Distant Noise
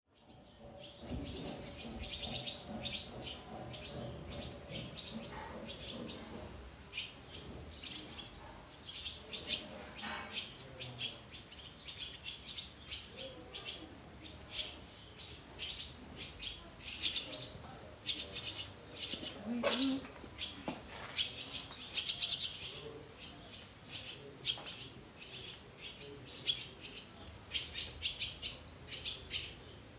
0:00.2 0:11.3

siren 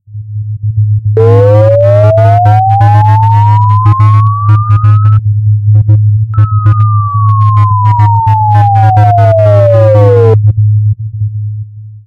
0:01.2 0:05.2, 0:06.4 0:10.4

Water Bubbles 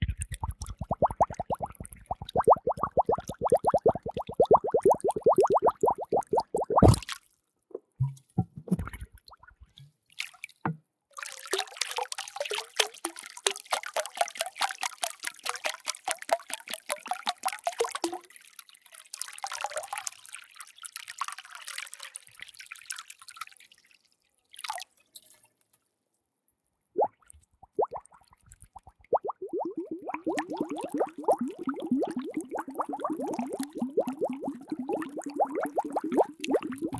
0:00.0 0:07.2, 0:08.0 0:09.7, 0:27.0 0:36.9

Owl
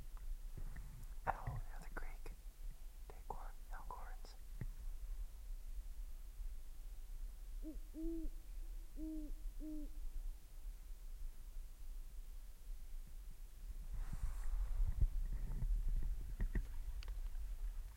0:07.6 0:10.0

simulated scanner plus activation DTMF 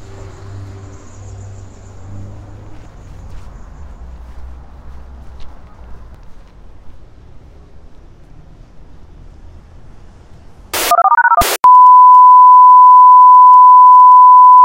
0:10.8 0:14.6

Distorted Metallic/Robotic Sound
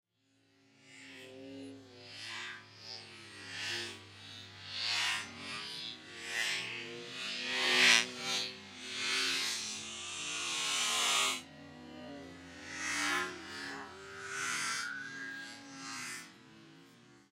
0:12.3 0:17.0

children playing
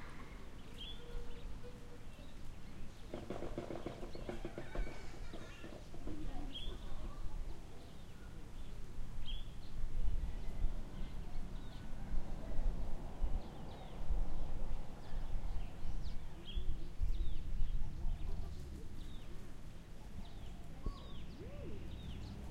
0:00.0 0:08.8

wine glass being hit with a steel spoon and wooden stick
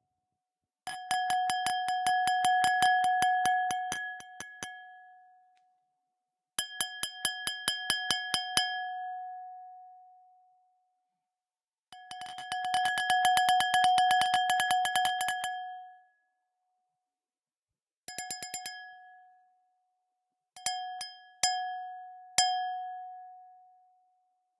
0:20.6 0:23.2

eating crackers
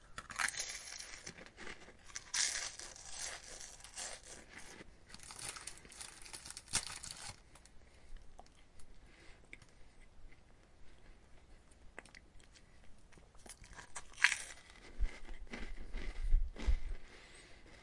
0:00.1 0:08.9, 0:11.7 0:16.8

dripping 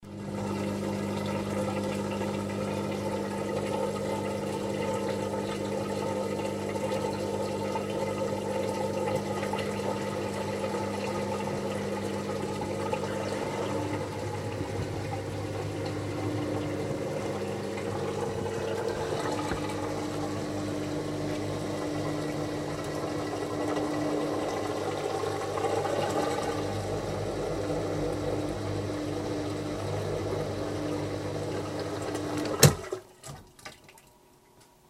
0:07.8 0:34.2

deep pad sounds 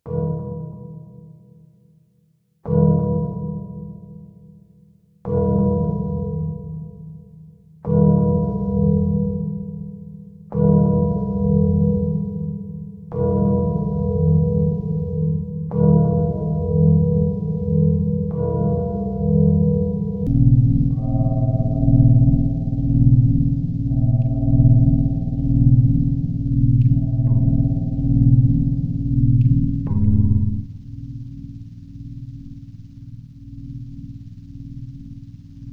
0:16.6 0:35.7

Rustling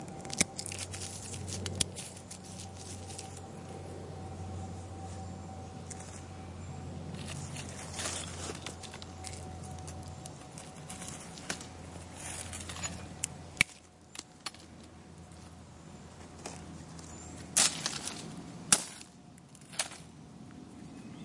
0:00.2 0:03.5, 0:07.1 0:13.2

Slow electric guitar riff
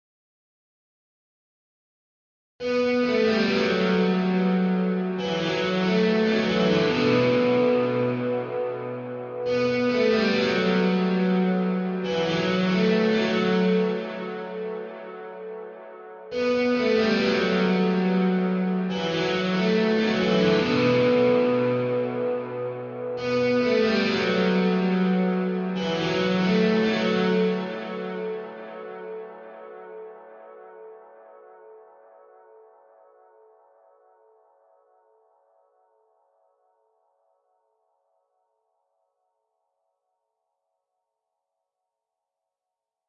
0:02.6 0:32.0

